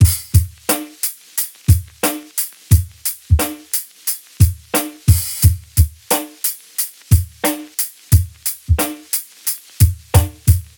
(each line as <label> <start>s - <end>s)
Acoustic Breakbeats 0.0s - 10.7s